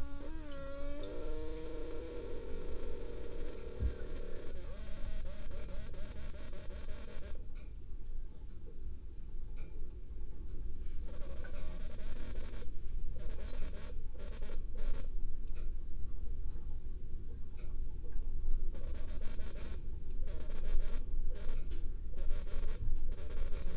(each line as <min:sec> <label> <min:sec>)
0:00.0 pressure cooker hisses and sighs 0:07.2
0:00.0 water filter 0:07.4
0:00.0 freezer’s hum 0:08.4
0:09.6 freezer’s hum 0:23.7